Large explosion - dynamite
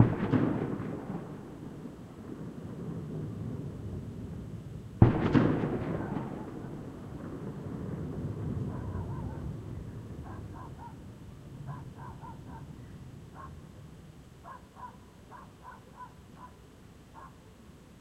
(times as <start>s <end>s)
0.0s 4.4s, 5.0s 10.2s